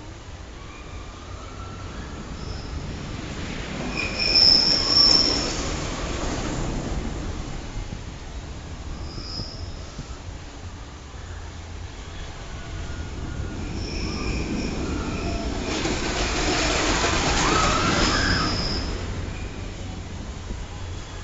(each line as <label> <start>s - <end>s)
wooden rollercoaster 0.0s - 21.2s